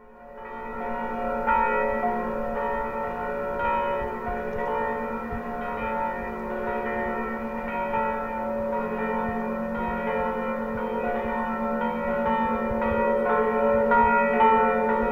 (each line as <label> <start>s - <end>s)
Distant bells 0.0s - 15.1s